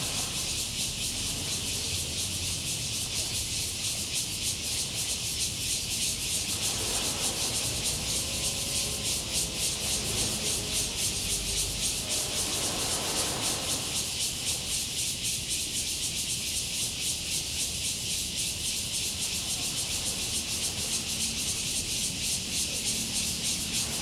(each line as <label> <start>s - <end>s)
Cicadas cry 0.0s - 24.0s
Sound tide 9.2s - 15.2s